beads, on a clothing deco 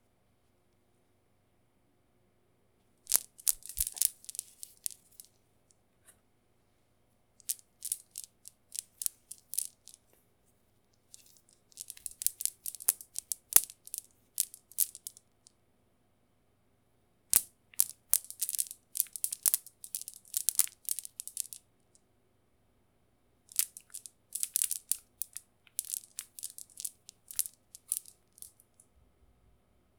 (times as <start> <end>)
2.9 6.3, 6.9 15.6, 17.2 22.1, 23.4 29.0